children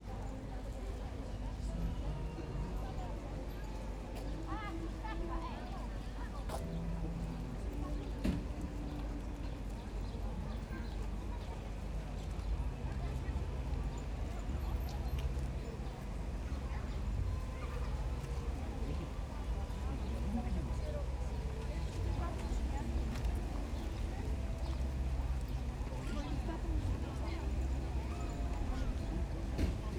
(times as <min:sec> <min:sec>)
0:12.4 0:29.9